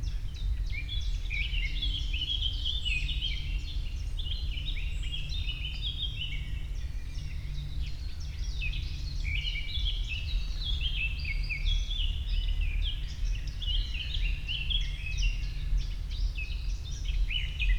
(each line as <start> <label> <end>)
0.0 Wind 17.7